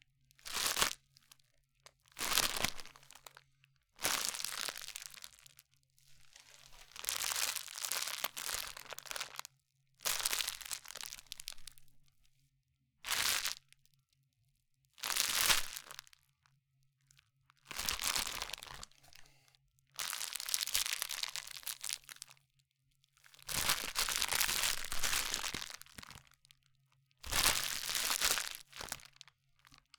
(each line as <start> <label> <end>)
23.6 Candy Bag Crinkle 26.2